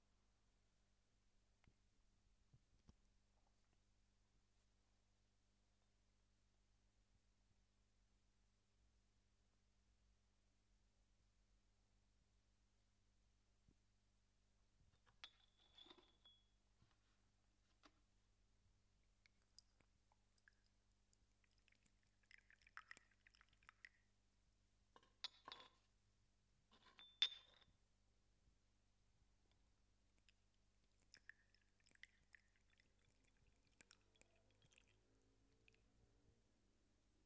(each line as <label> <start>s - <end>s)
serving hot water in a tea cup 15.0s - 16.6s
serving hot water in a tea cup 19.1s - 24.2s
serving hot water in a tea cup 30.1s - 35.9s